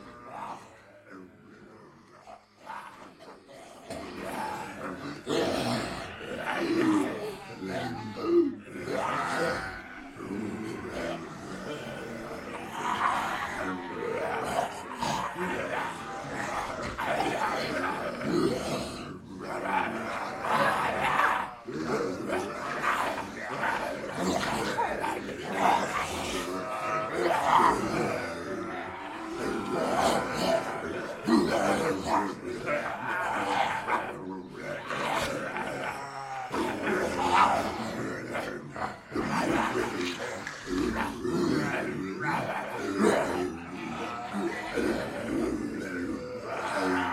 people pretending to be zombies 0:00.0 - 0:47.1

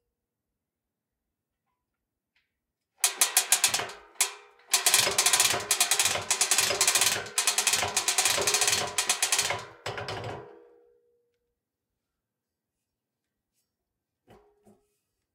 Hearty metallic ratcheting and clunking sounds 0:03.0 - 0:10.6

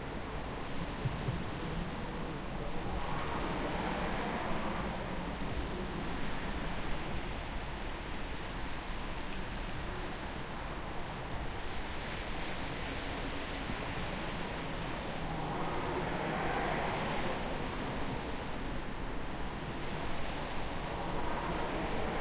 regular traffic 0:11.1 - 0:22.2
Quiet waves 0:11.4 - 0:22.2

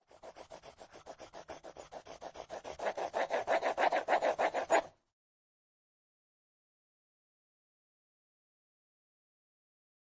crayon that draws on paper 0:00.0 - 0:05.0

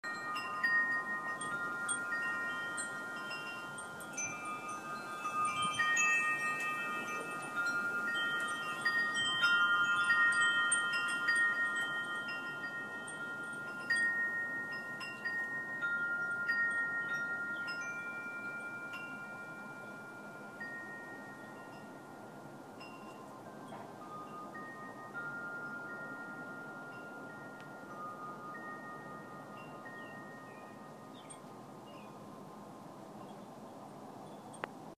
Wind Chimes 0:00.0 - 0:34.9
breeze blowing through redwood trees 0:00.0 - 0:34.9
birds 0:29.5 - 0:34.8

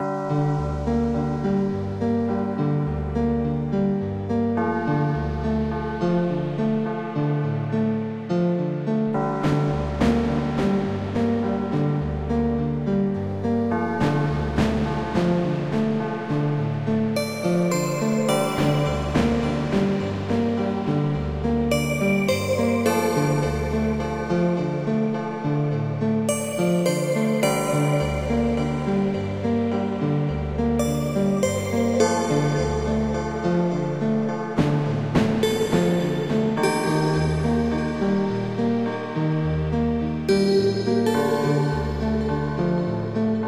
beat 0:13.7 - 0:24.6
beat 0:30.1 - 0:38.4

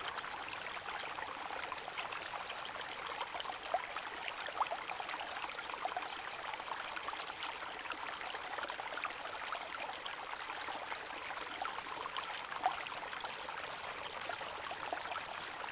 quiet brook 0:00.0 - 0:15.7

